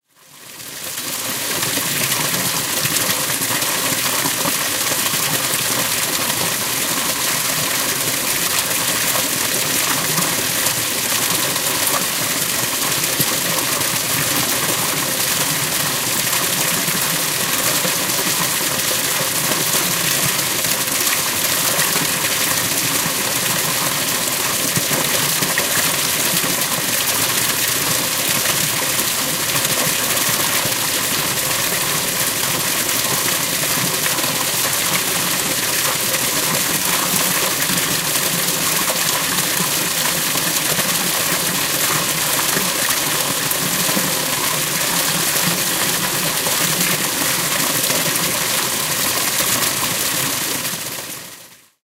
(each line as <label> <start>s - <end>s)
water 0.0s - 51.8s